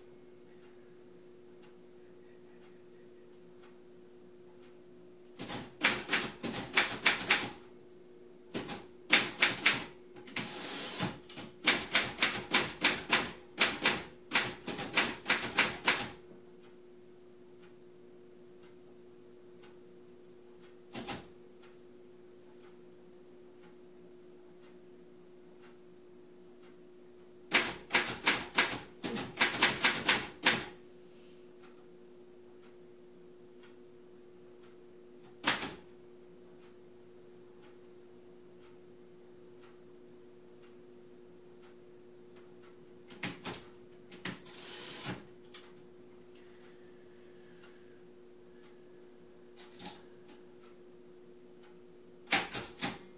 secretary typing on 1940s mechanical typewriter 5.4 - 7.6
secretary typing on 1940s mechanical typewriter 8.5 - 16.2
secretary typing on 1940s mechanical typewriter 27.5 - 30.7
secretary typing on 1940s mechanical typewriter 35.4 - 35.8
secretary typing on 1940s mechanical typewriter 43.1 - 45.3
secretary typing on 1940s mechanical typewriter 52.3 - 53.0

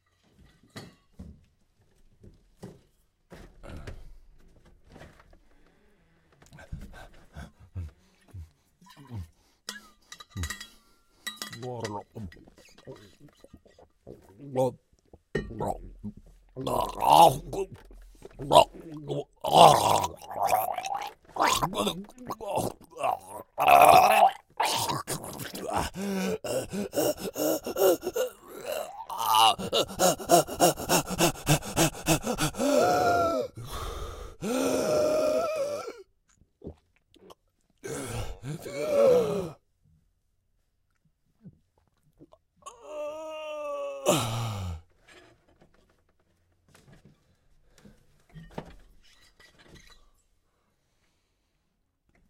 Male Screams 18.5 - 36.0
Male Screams 37.9 - 39.6
Male Screams 42.7 - 44.8

